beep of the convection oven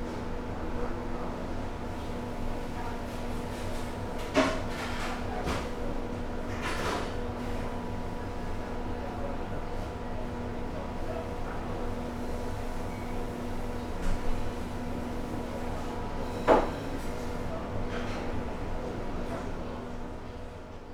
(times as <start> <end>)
16.2 17.1